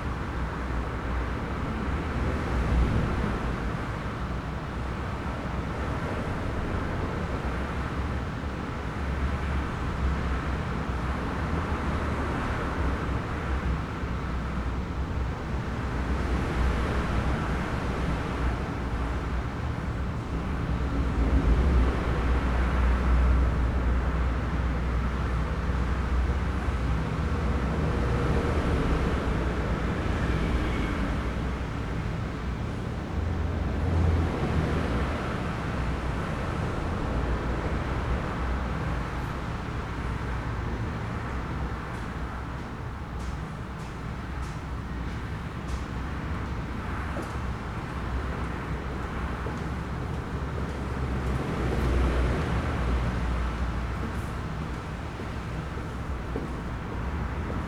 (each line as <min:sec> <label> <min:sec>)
0:00.0 traffic 0:57.6
0:53.5 footsteps 0:57.6